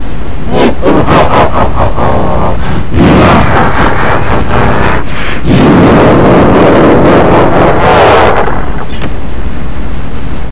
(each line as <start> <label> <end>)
0.5 Evil Laugh 8.8